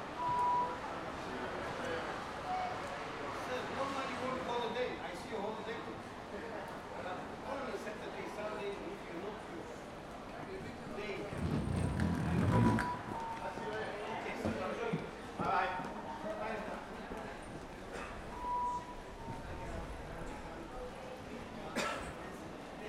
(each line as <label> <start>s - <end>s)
rfid ticket beep 0.2s - 0.8s
rfid ticket beep 18.3s - 19.5s